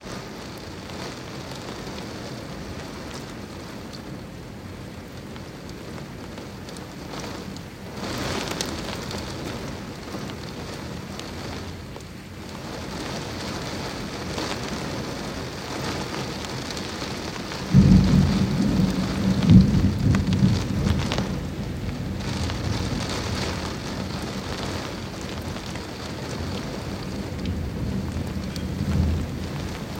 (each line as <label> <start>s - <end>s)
Rain 0.0s - 29.9s
occasional thunder 17.6s - 29.9s